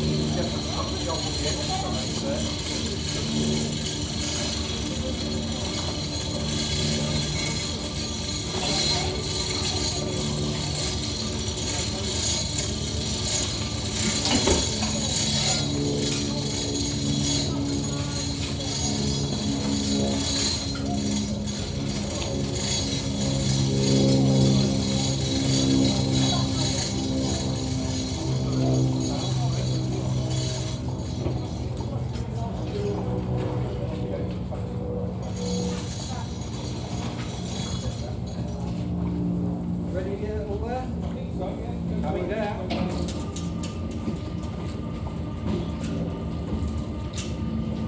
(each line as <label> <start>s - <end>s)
Sailing boat hoist lifting boats 0.0s - 33.8s